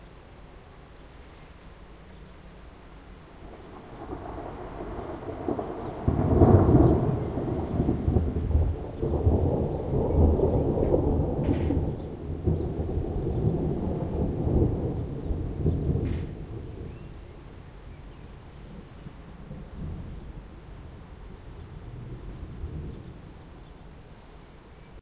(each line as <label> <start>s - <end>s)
rain 0.0s - 25.0s
thunderclaps 3.4s - 17.7s
thunderclaps 21.7s - 23.4s